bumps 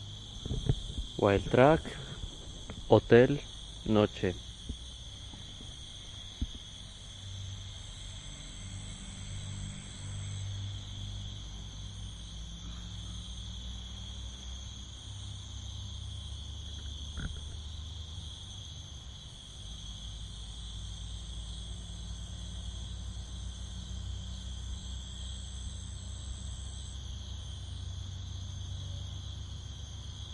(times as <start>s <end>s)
0.4s 3.4s